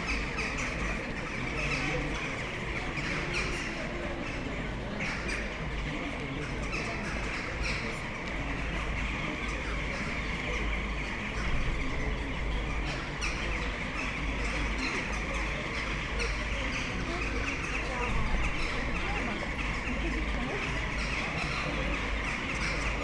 big bunch of excited jackdaws in the trees 0:00.0 - 0:23.0
buzz and hum of people sitting outside bars 0:00.0 - 0:23.0

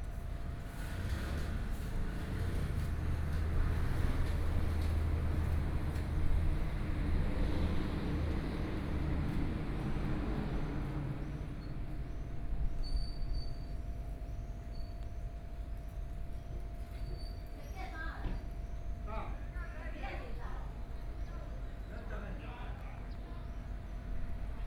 Traffic Sound 0:00.2 - 0:11.8

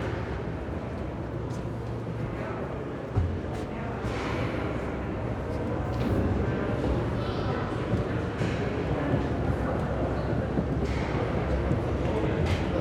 one of the larger elevators 0:00.0 - 0:12.8

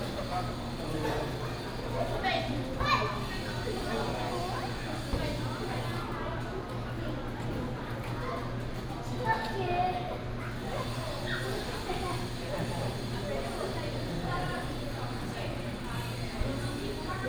Construction noise 0:10.6 - 0:17.2

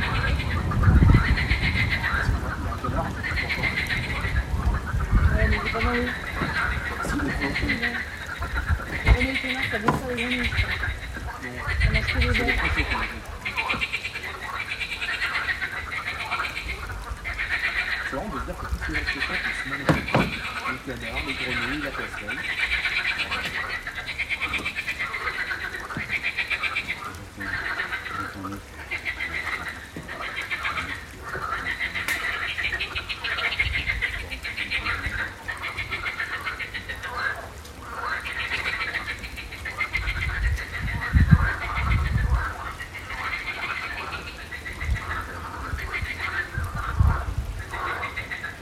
ducks 0:00.0 - 0:48.6
song of frogs in a pond 0:00.0 - 0:48.6

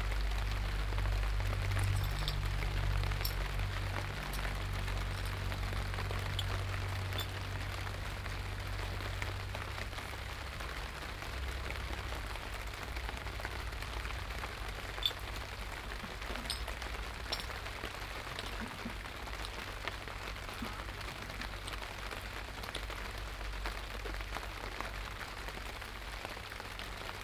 rain 0:00.0 - 0:27.2

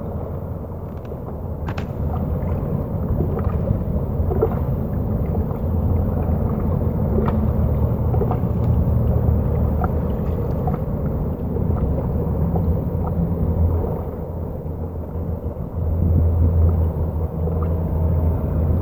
traffic 0:00.0 - 0:18.8
Waves lapping 0:01.4 - 0:18.8

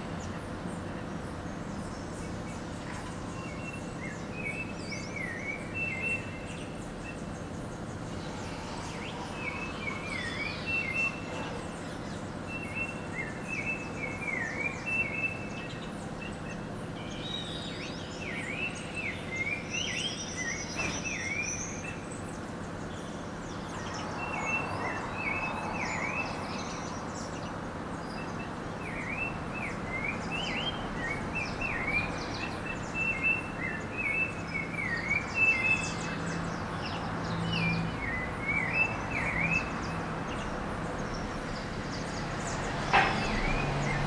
birds are singing 0:00.0 - 0:44.0

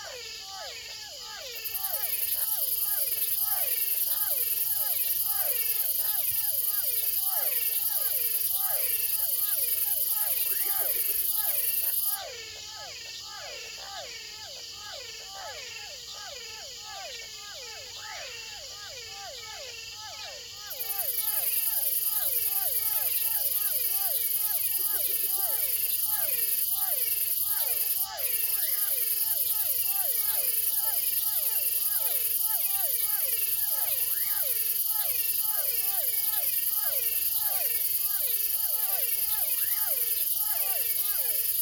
crickets singing 0:00.0 - 0:41.6
frogs 0:00.0 - 0:41.6
toads 0:00.0 - 0:41.6

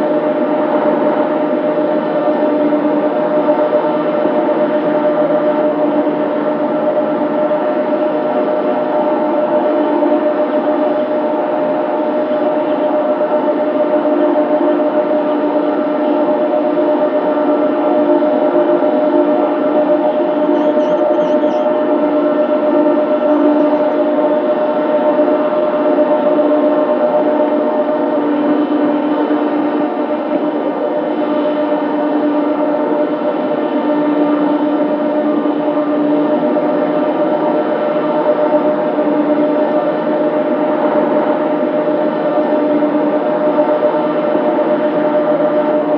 WIND POWER TURBINE 0:00.0 - 0:45.9

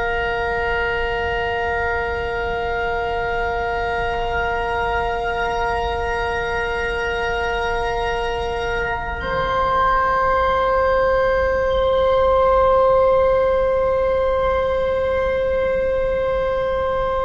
organ tuning 02 0:08.8 - 0:17.2

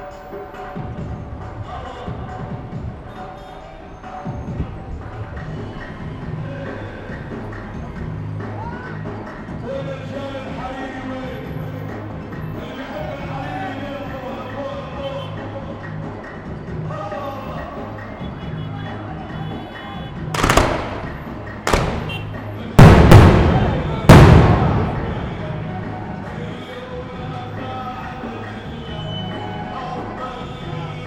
celebrations 0:23.0 - 0:25.9

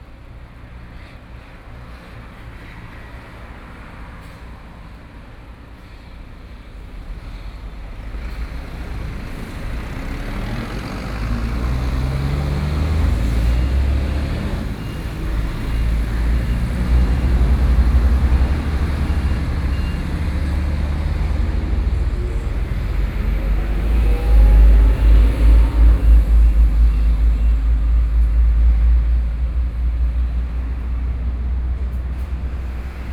big trucks 0:00.0 - 0:33.1
traffic sounds 0:00.0 - 0:33.1

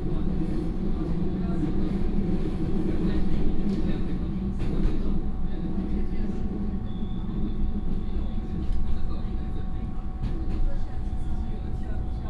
Regional rail 0:00.0 - 0:12.2

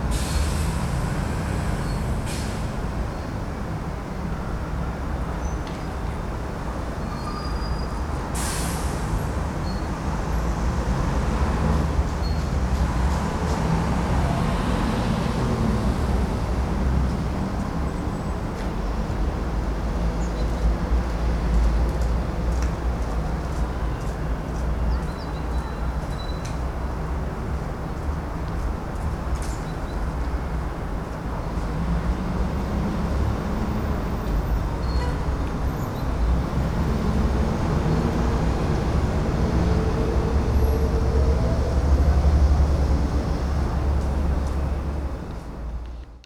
birds in citys cacophony 0:04.2 - 0:08.2
birds in citys cacophony 0:17.1 - 0:21.9
birds in citys cacophony 0:23.8 - 0:26.7
birds in citys cacophony 0:29.5 - 0:30.7

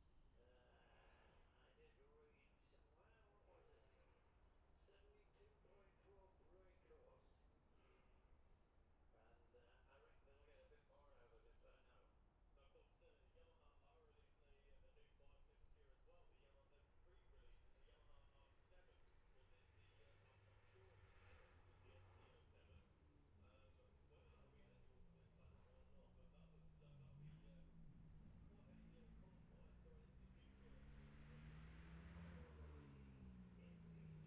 road racing 0:17.2 - 0:34.2

